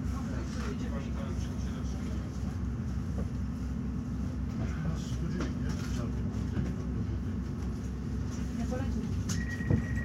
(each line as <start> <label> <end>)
0.0 train ride 10.0